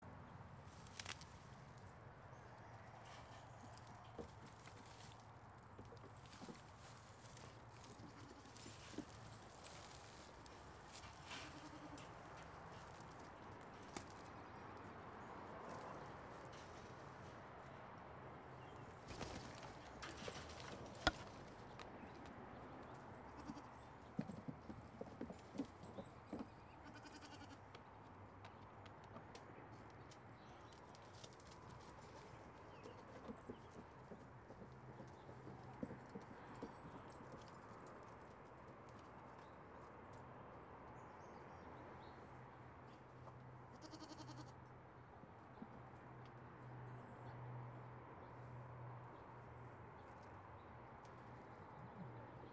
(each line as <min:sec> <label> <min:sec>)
0:00.1 goats Daisy and Roy fighting for their food 0:52.5